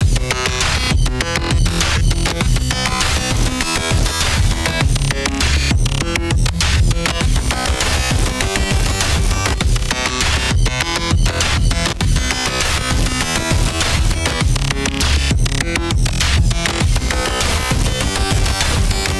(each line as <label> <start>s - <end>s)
glitch drums 0.0s - 19.1s
glitch noise effects 0.0s - 19.1s